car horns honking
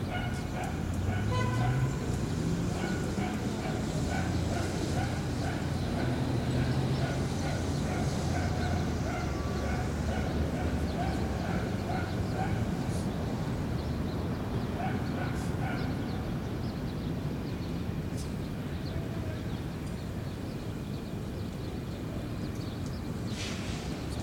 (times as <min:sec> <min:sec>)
0:01.1 0:02.0